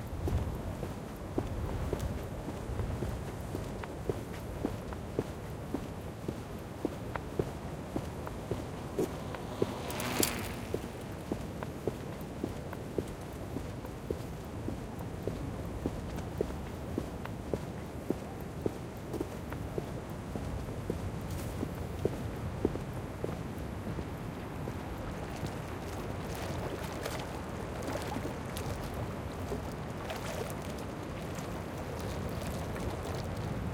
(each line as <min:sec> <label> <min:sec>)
0:21.3 Clapotis de la mer sur le quai en pierre 0:33.7